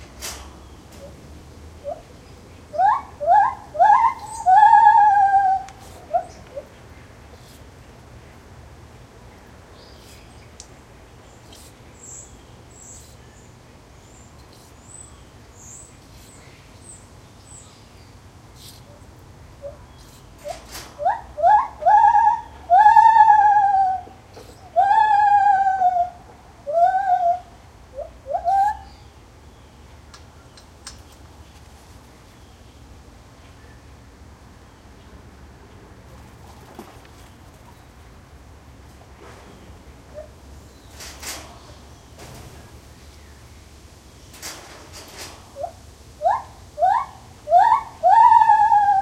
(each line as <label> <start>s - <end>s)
traffic 0.0s - 24.9s
birds in the background 0.0s - 49.0s
wind 0.0s - 49.0s
single Lar Gibbon calling 2.7s - 6.7s
single Lar Gibbon calling 21.0s - 29.1s
traffic 25.9s - 49.0s
single Lar Gibbon calling 45.6s - 49.0s